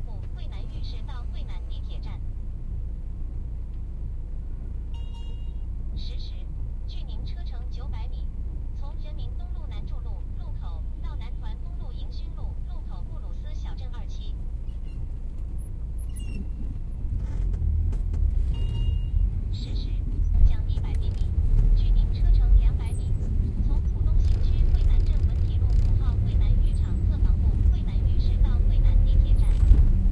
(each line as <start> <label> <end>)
0.0 traffic sounds outside the closed windows 30.1
4.9 electronic announcement from the taxi's meter 14.4
14.6 car's acceleration and braking 27.7
18.5 electronic announcement from the taxi's meter 21.2
21.8 electronic announcement from the taxi's meter 29.7